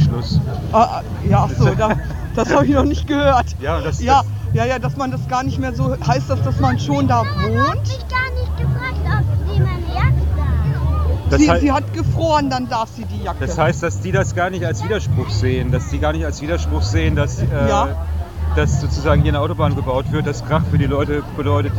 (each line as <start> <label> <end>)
0.0 Demonstration 21.7